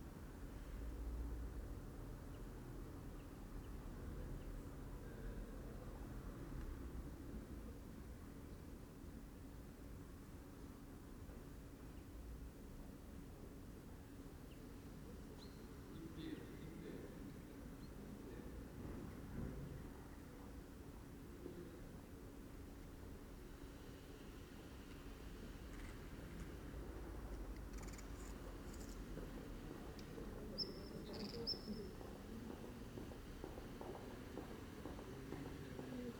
people passing by 0:28.4 - 0:36.1
birds 0:29.9 - 0:32.3

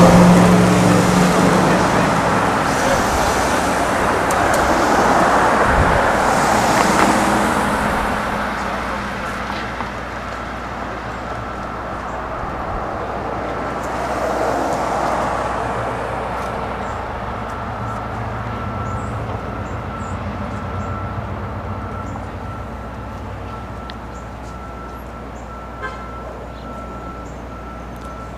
bike ride 0:00.0 - 0:28.3
buses (gasoline and electric) 0:00.0 - 0:28.3
reverse beeping sound from construction vehicles 0:06.6 - 0:13.2
reverse beeping sound from construction vehicles 0:16.8 - 0:28.3

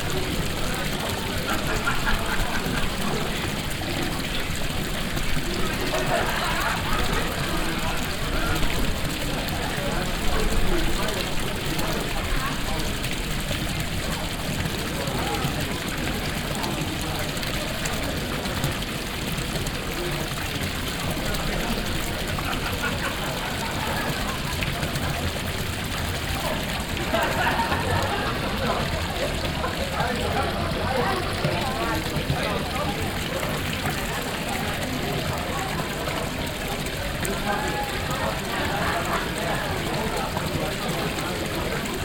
fountain 0:00.0 - 0:42.0

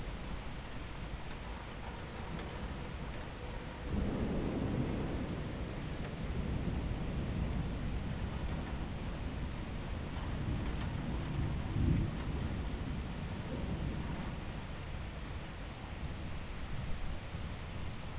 storm 0:01.4 - 0:15.4

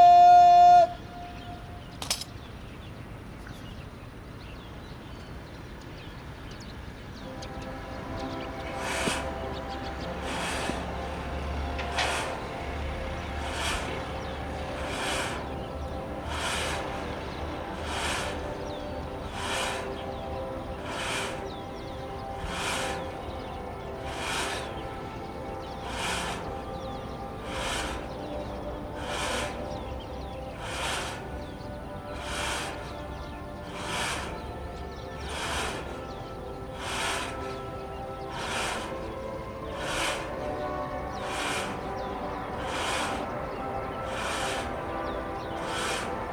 Pull the flag-raising 0:00.0 - 0:02.5
Pull the flag-raising 0:07.2 - 0:46.3

